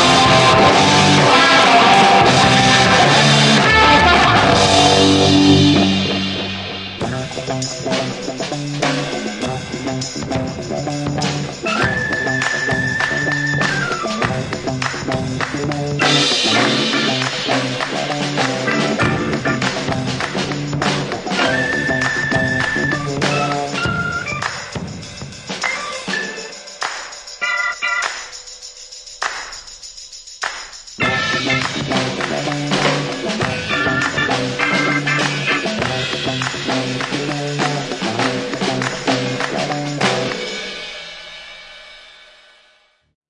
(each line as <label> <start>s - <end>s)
vintage spring reverb guitar sound 0.0s - 23.9s
organ 0.0s - 28.5s
tambourine 0.0s - 42.9s
drums 0.0s - 43.0s
vintage spring reverb guitar sound 31.0s - 40.7s
organ 31.0s - 40.8s